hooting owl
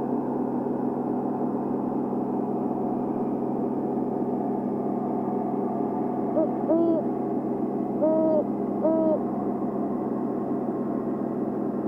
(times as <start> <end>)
6.3 7.2, 7.9 9.6